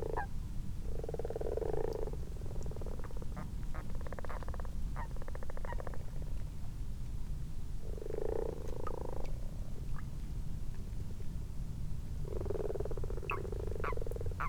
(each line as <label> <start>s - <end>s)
common frogs 0.0s - 6.4s
common toads in a garden pond 0.0s - 14.4s
common frogs 7.8s - 10.1s
common frogs 12.2s - 14.4s